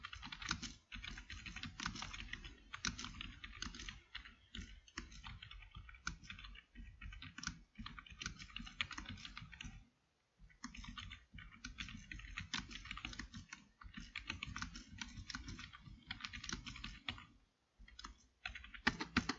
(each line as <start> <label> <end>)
0.0 computer keyboard 9.8
10.5 computer keyboard 19.3